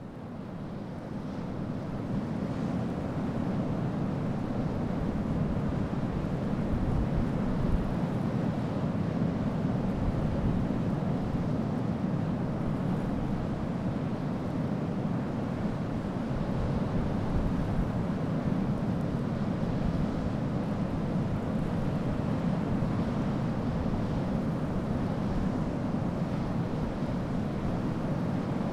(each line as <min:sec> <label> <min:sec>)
0:00.0 sea 0:28.7
0:12.2 wind in the dunes 0:28.7